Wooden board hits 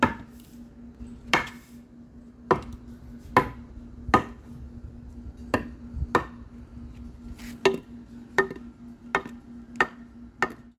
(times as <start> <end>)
9.2 10.7